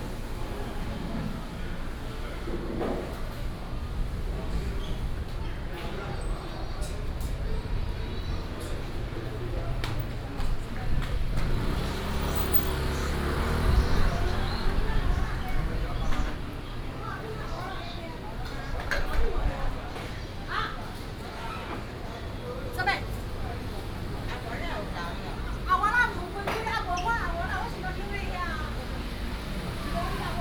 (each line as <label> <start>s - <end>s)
Traffic Sound 0.0s - 30.4s
Walking in the market 0.0s - 30.4s
Vendors 10.8s - 17.7s